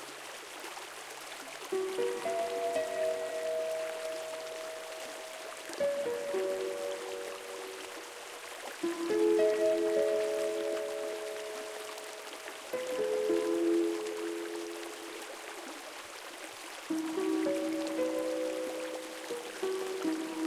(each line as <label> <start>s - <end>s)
water 0.0s - 20.4s
harp 1.7s - 15.4s
synthesizer 1.8s - 15.3s
harp 16.9s - 20.4s
synthesizer 16.9s - 20.4s